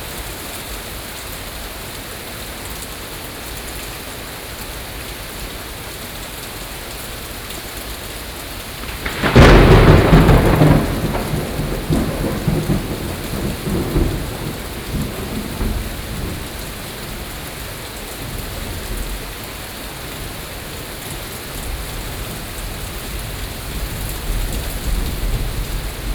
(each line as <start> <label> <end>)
8.6 thunderstorms 26.1